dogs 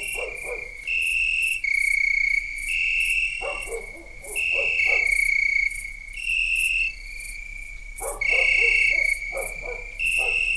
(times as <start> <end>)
0.0 0.8, 3.4 5.2, 8.0 10.5